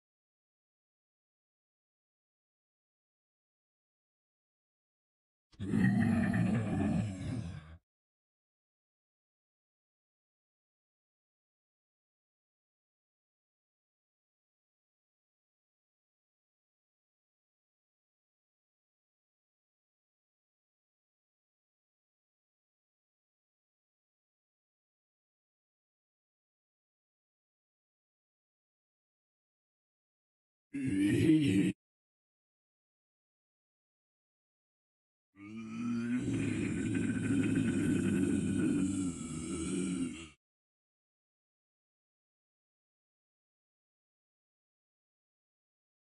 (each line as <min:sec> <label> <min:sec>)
0:05.6 zombie 0:07.8
0:30.8 zombie 0:31.8
0:35.4 zombie 0:40.4